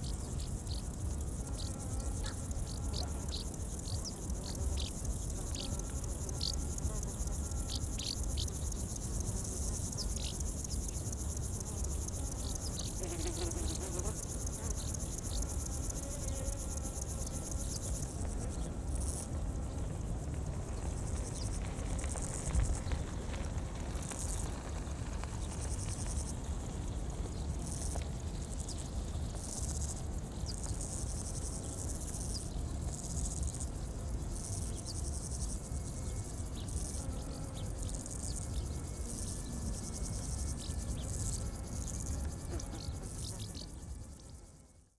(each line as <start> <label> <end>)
0.0 many insects 44.9
20.1 cyclists 27.4